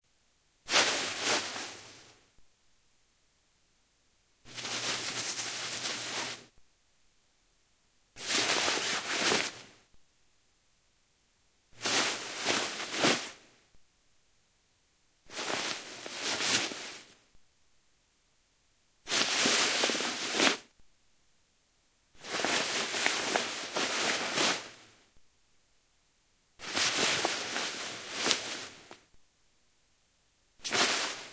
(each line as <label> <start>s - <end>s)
Clothing Rustle Cotton 0.7s - 2.2s
Clothing Rustle Cotton 4.5s - 6.5s
Clothing Rustle Cotton 8.2s - 9.8s
Clothing Rustle Cotton 11.8s - 13.5s
Clothing Rustle Cotton 15.3s - 17.2s
Clothing Rustle Cotton 19.1s - 20.7s
Clothing Rustle Cotton 22.2s - 25.0s
Clothing Rustle Cotton 26.6s - 29.1s
Clothing Rustle Cotton 30.6s - 31.3s